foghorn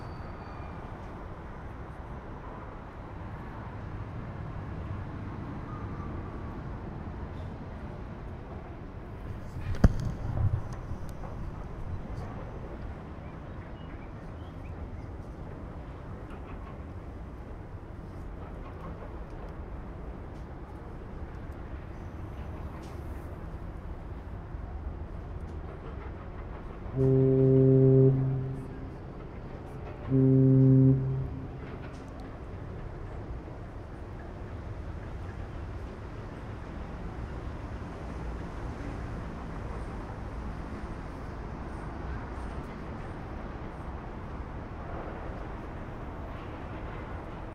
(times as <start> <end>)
26.9 29.1, 29.9 32.1